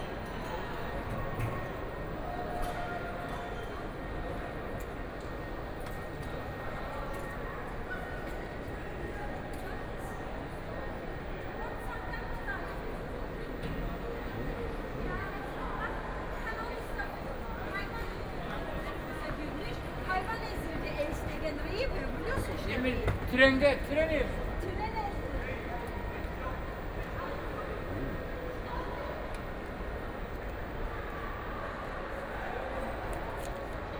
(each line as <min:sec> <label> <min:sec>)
0:00.0 Walking in the station hall 0:33.9